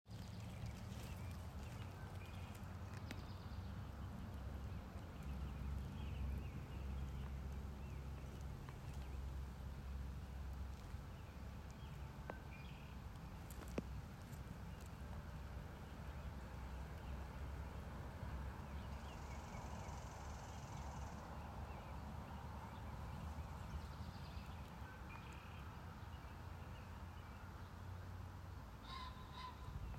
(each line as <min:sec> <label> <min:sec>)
0:00.0 wind 0:29.9
0:00.1 birdsong 0:09.4
0:28.8 birdsong 0:29.9